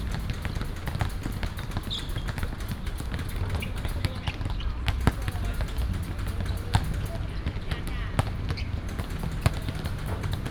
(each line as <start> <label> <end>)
0.0 Traffic Sound 10.5